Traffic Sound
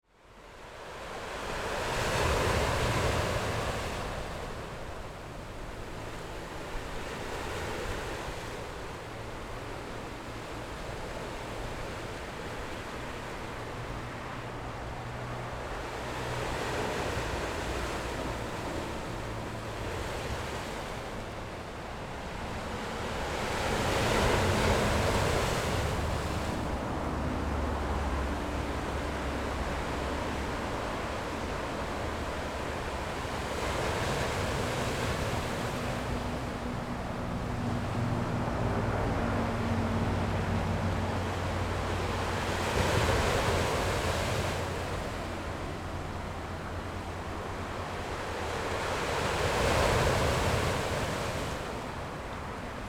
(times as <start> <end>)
13.0 52.8